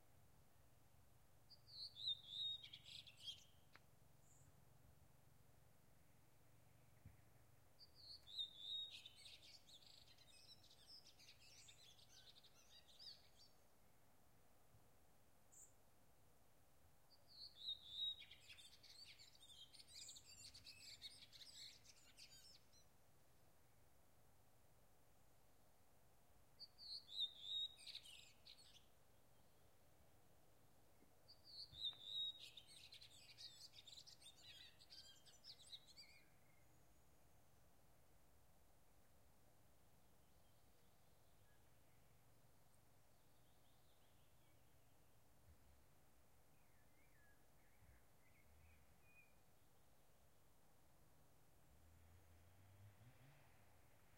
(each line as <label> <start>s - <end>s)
wind through large pines 0.0s - 54.1s
birds 1.5s - 5.2s
birds 6.1s - 14.0s
birds 17.1s - 23.0s
birds 26.6s - 29.8s
birds 30.8s - 37.6s
birds 40.0s - 50.0s
Distant traffic 51.6s - 54.1s